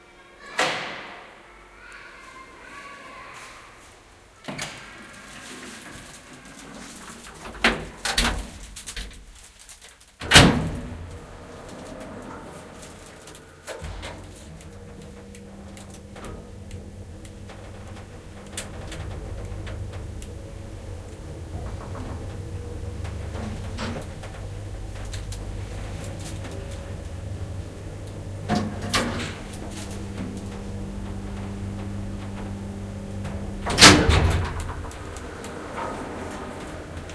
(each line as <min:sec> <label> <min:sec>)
0:04.2 elevator starting, going-up and stopping 0:09.6
0:10.2 elevator starting, going-up and stopping 0:37.1